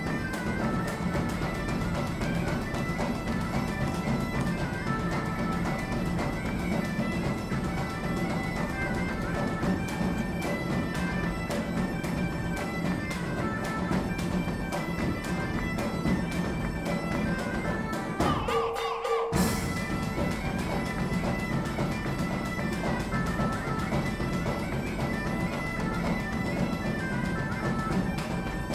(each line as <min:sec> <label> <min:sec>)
0:17.4 band playing 0:28.7